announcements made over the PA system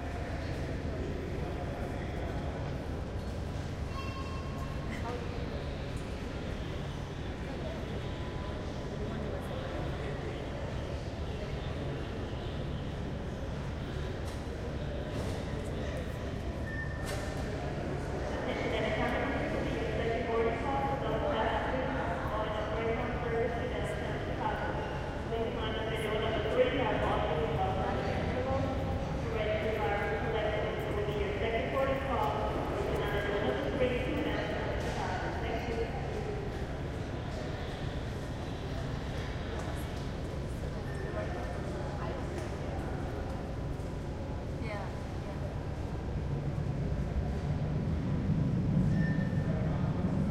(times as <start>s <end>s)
18.2s 36.9s